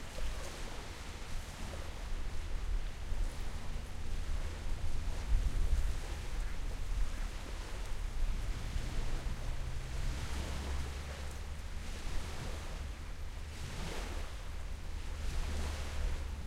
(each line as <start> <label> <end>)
0.0 boats 16.4
0.0 waves 16.4
0.0 wind 16.4